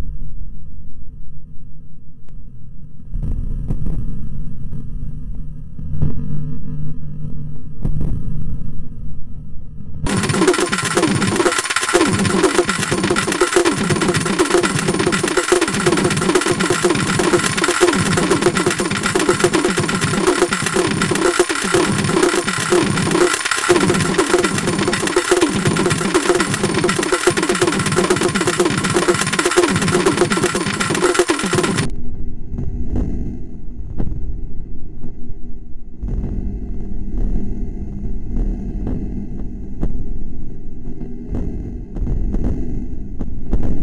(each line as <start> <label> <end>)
10.1 synthesizer 31.9